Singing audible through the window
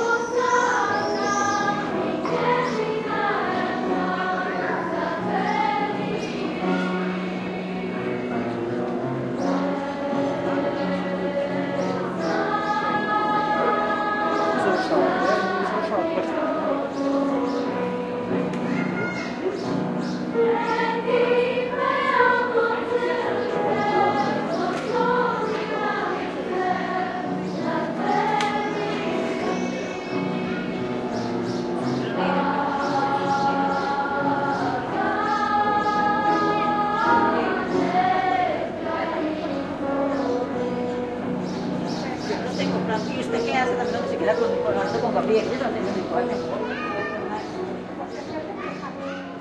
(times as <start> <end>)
0.0 7.6, 9.4 19.4, 32.1 41.4